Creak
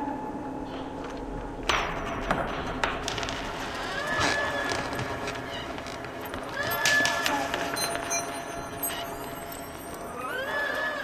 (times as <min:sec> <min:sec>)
0:03.7 0:11.0